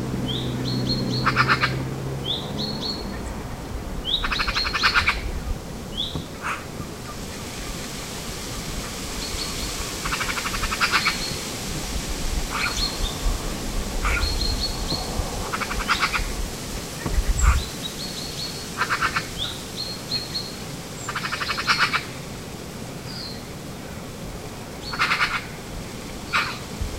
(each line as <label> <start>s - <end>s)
wind in trees 0.0s - 26.9s
other birds in background 0.2s - 7.9s
Two magpies calling to each other 0.6s - 1.8s
Two magpies calling to each other 4.1s - 5.3s
Two magpies calling to each other 6.1s - 6.7s
other birds in background 8.5s - 11.6s
other birds in background 12.4s - 22.2s
Two magpies calling to each other 12.5s - 12.9s
Two magpies calling to each other 14.0s - 14.5s
Two magpies calling to each other 18.8s - 19.6s
Two magpies calling to each other 21.1s - 22.2s
other birds in background 24.7s - 25.6s
Two magpies calling to each other 24.8s - 25.6s
other birds in background 26.2s - 26.8s
Two magpies calling to each other 26.3s - 26.6s